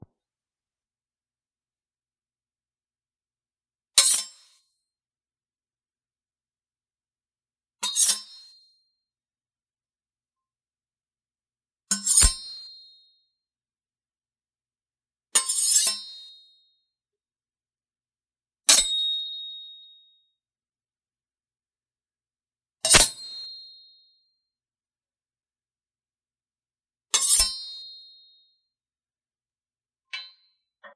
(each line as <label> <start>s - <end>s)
Scraping two kitchen knives together 22.9s - 23.2s